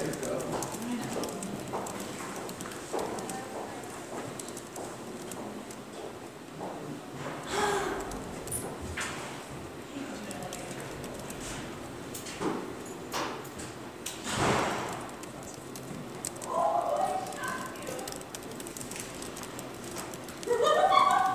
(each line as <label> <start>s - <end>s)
socializing students 0.0s - 21.3s
well-used keyboards 14.9s - 21.3s